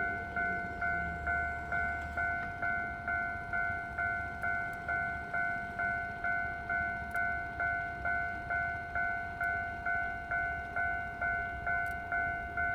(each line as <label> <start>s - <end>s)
Train traveling through 0.0s - 12.7s